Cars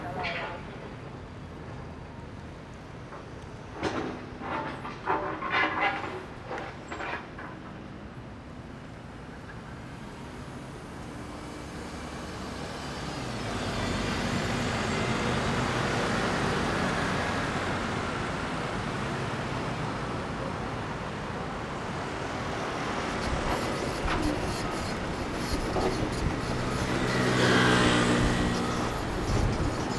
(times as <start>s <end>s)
9.0s 29.9s